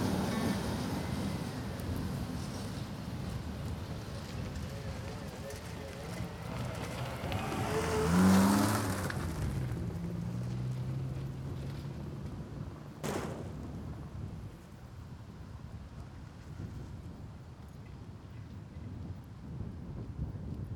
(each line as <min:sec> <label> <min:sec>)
0:00.0 very long fright trains passing just in front 0:09.8